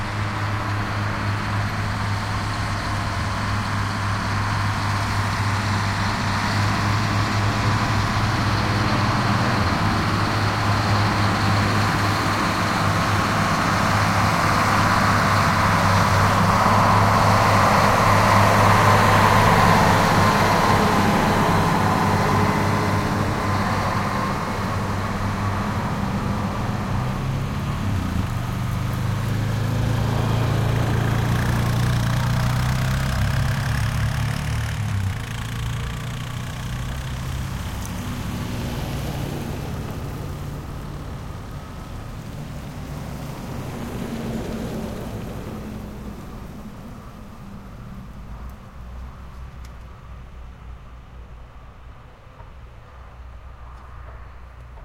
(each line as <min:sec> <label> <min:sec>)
0:00.0 front loader truck with container drive by in reverse 0:54.8
0:00.0 pickup trucks follow 0:54.8